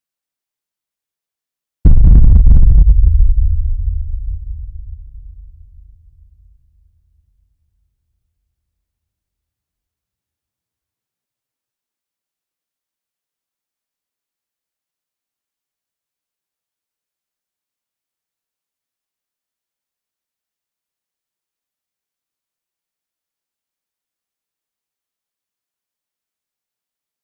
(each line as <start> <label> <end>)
1.9 low frequency boom sound 6.4